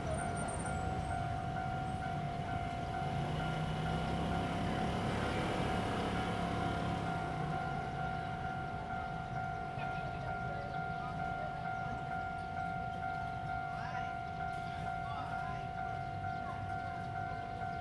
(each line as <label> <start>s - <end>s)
Traffic sound 0.0s - 10.7s
Train traveling through 0.0s - 17.8s